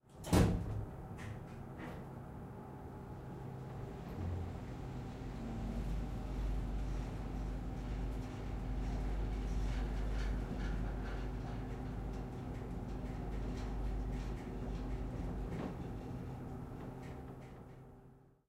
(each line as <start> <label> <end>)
0.2 travelling in a typical elevator 18.4